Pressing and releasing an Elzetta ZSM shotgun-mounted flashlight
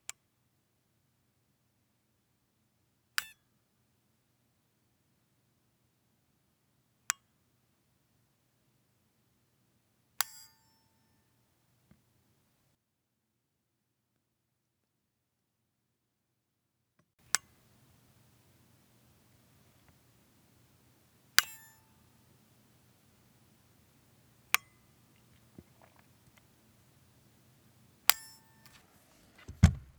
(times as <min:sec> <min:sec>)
0:21.3 0:22.5